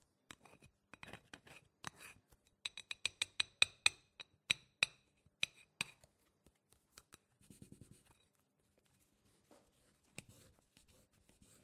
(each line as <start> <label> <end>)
0.3 card tapping and scraping on a ceramic plate 6.1